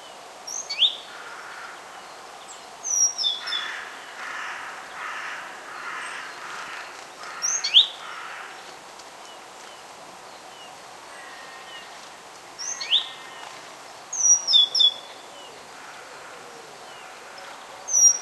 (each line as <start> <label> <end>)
1.0 crows singing 2.0
2.9 crows singing 8.8
12.6 crows singing 13.6
14.2 crows singing 18.2